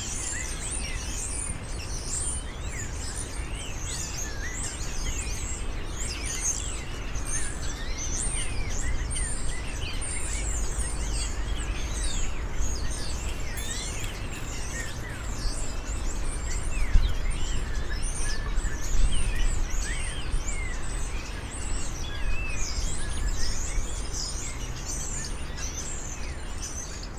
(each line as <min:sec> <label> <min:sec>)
0:00.0 Birds 0:27.1